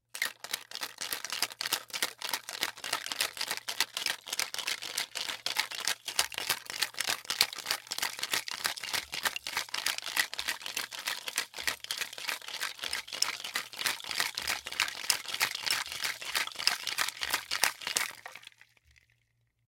Shaking martini shaker loud, fast 0.1 - 18.5

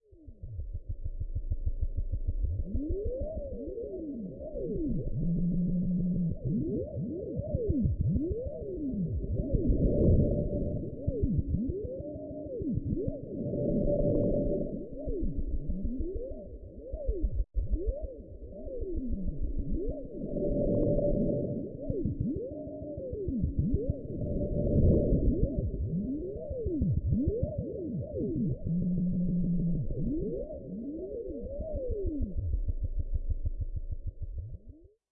drone 1.9 - 34.0

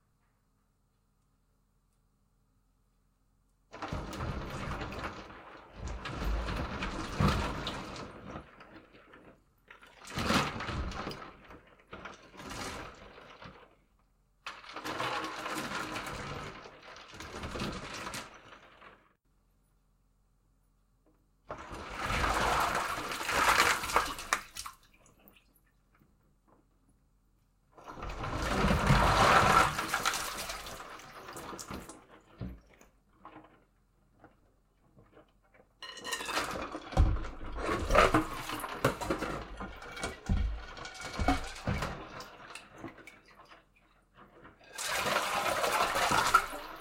Ice Cubes And Water In Metal Sink 3.5 - 19.2
Ice Cubes And Water In Metal Sink 21.0 - 46.8

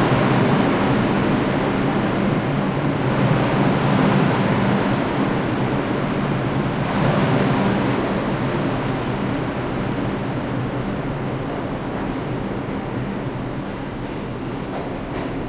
Trains arriving and departing 0.0 - 15.4

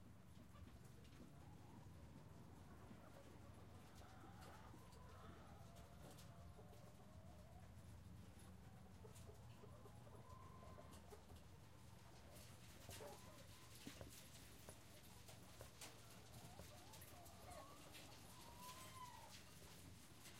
free running chicken 0.0 - 20.3
Scratching sound from inside the barn 2.1 - 20.3

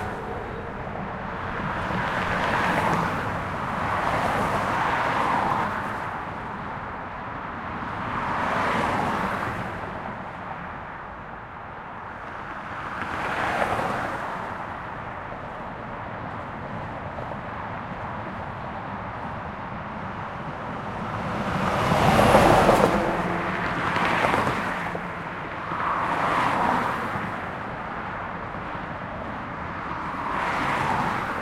highway 0.0 - 31.4
trucks 0.0 - 31.4

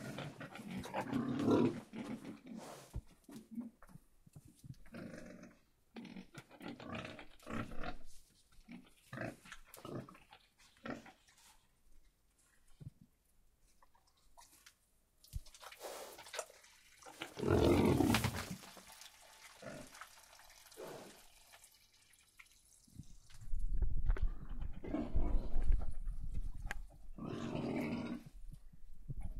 pigs making noises in their pen 0.0 - 23.3
pigs making noises in their pen 24.1 - 28.4

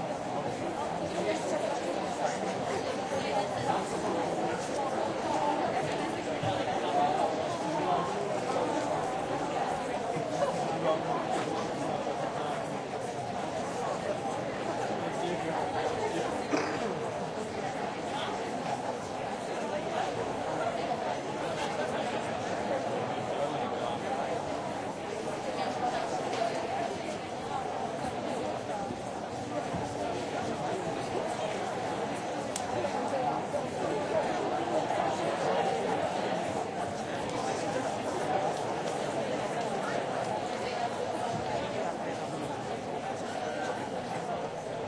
murmur 0.0 - 44.8

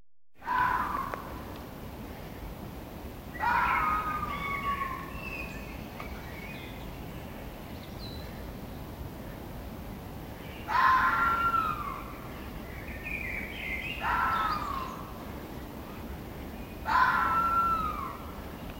Fox scream 0.4 - 1.2
birds in the background 0.4 - 18.7
Fox scream 3.4 - 5.2
Fox scream 10.6 - 12.1
Fox scream 14.0 - 15.0
Fox scream 16.8 - 18.2

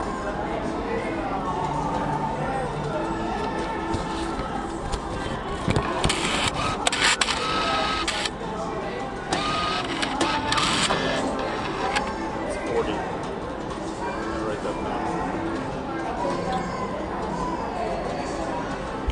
player 9.3 - 12.4
background casino music 10.8 - 13.6

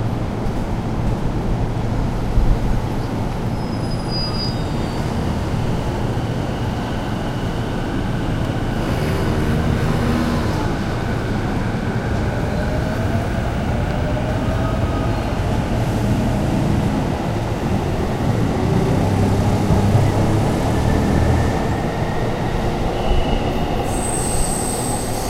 Trains come and go 0.0 - 25.2

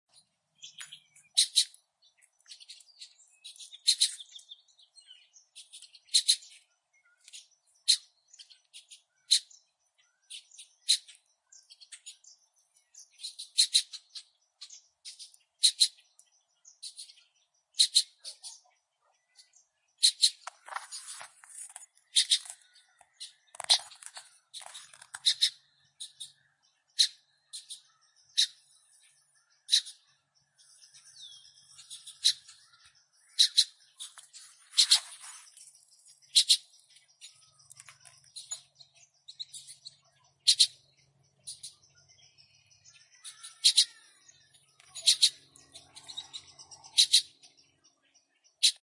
Black Bird fledglings talking to each other 1.3 - 1.8
Black Bird fledglings talking to each other 15.1 - 16.1
Black Bird fledglings talking to each other 17.8 - 20.7
Black Bird fledglings talking to each other 22.0 - 28.7
Black Bird fledglings talking to each other 29.5 - 30.2
Black Bird fledglings talking to each other 30.9 - 34.2
Black Bird fledglings talking to each other 36.2 - 38.6
Black Bird fledglings talking to each other 39.3 - 40.8
Black Bird fledglings talking to each other 42.8 - 47.6

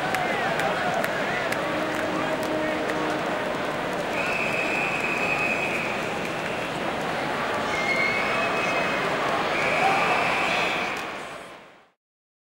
audience cheering and clapping rhytmically 0.0 - 11.6
horns 0.1 - 11.1

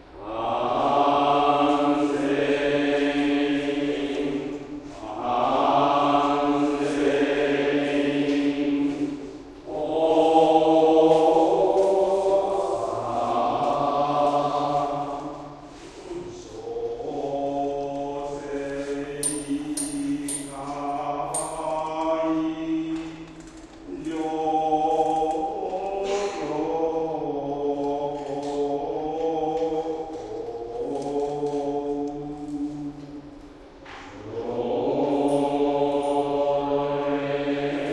Responsory prayer buddhist singing 0.0 - 37.9

